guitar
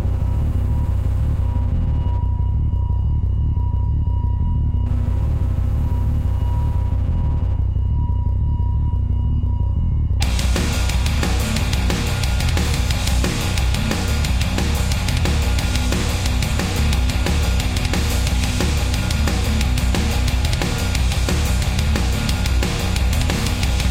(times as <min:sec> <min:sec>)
0:10.2 0:23.9